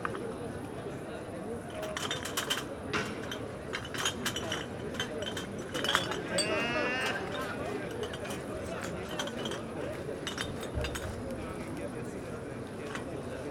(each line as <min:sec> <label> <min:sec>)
0:00.0 Many people in the park sitting in darkness 0:13.5
0:01.7 shopping trolly to collect bottles 0:11.2